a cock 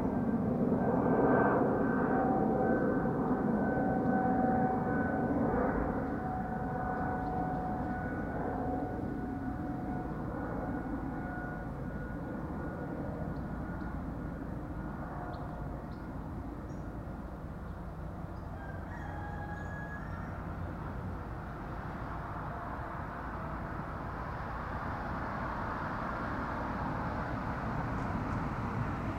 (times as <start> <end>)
18.6 20.6